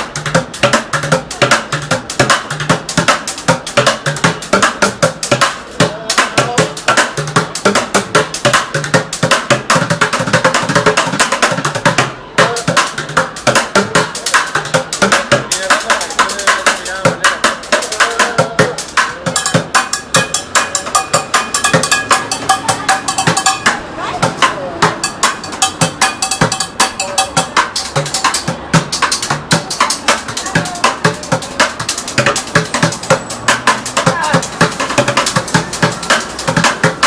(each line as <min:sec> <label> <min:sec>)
0:00.0 Pots and Pans Drummer 0:37.0